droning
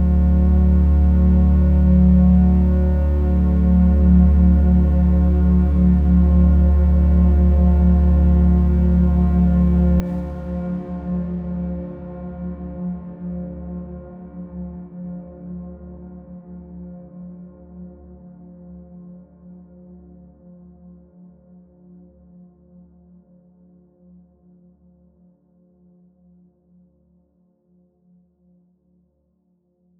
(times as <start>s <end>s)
0.0s 10.5s